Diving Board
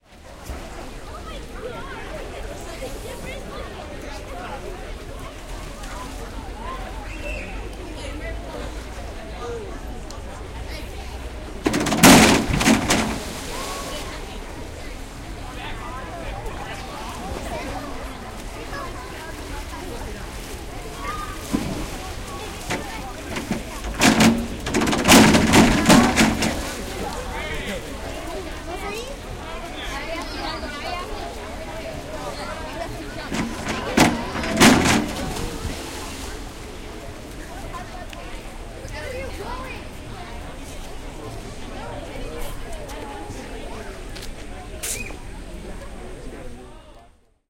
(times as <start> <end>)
10.8 29.3, 29.9 38.0